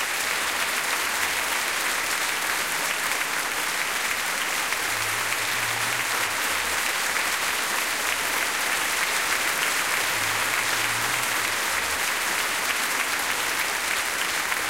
audience clapping 0.0 - 14.6

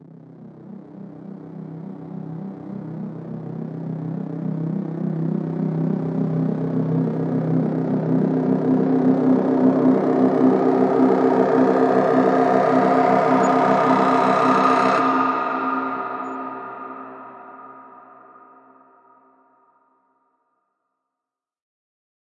wide sounding pad 2.8 - 19.0

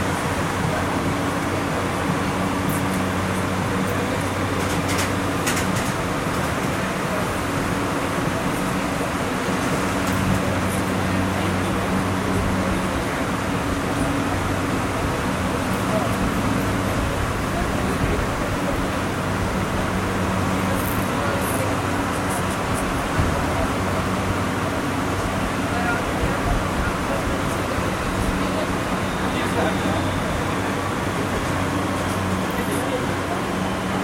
metro 0.0 - 34.0
people 0.0 - 34.0

